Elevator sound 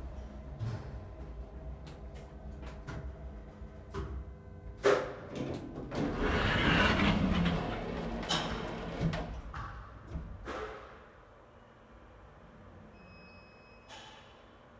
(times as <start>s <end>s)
5.3s 10.6s